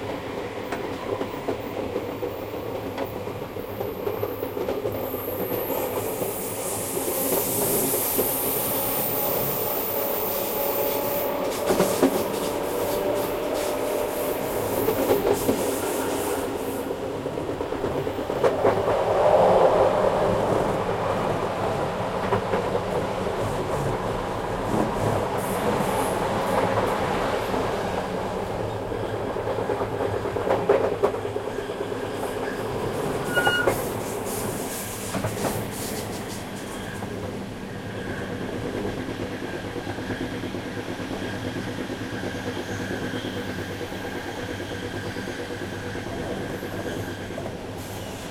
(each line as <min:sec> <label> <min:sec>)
0:00.0 train 0:48.3